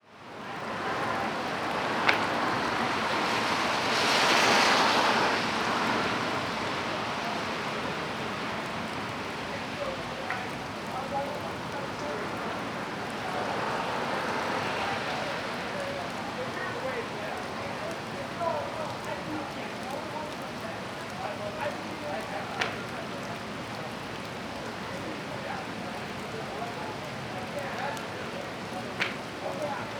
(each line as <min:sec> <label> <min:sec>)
0:00.0 rain 0:29.9
0:00.2 light evening traffic passing by 0:29.9
0:14.6 random people chatting 0:29.9